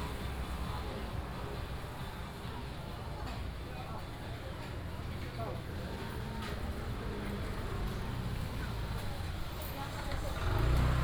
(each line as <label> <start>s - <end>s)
Walking through the traditional market 0.0s - 11.0s